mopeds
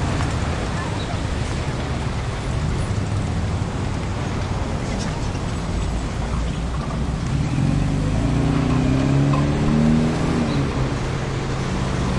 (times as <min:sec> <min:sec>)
0:04.2 0:12.1